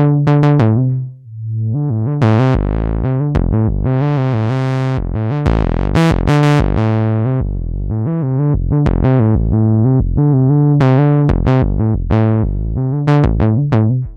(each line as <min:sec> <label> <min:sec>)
0:00.0 synth bassline in A minor with an evolving filter envelope 0:14.1